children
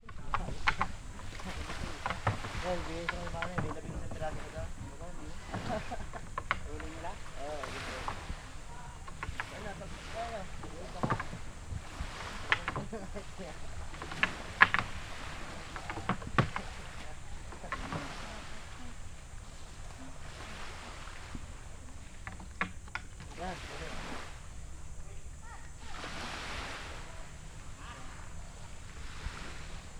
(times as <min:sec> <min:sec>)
0:24.6 0:26.1